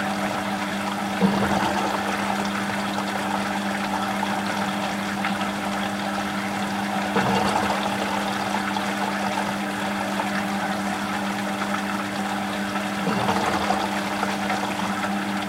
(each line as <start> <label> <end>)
0.0 running dishwasher 15.4